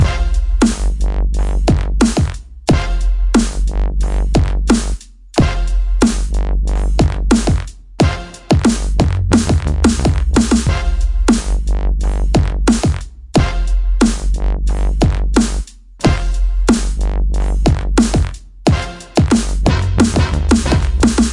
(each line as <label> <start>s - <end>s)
massive bass 0.0s - 21.3s